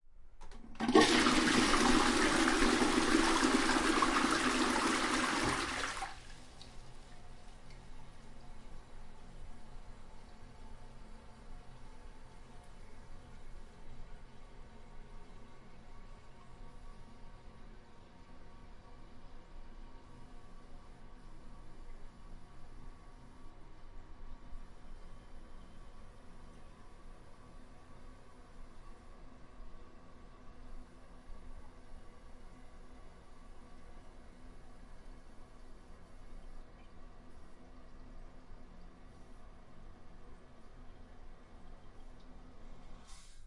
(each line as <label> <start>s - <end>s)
Toilet flushing 0.5s - 6.7s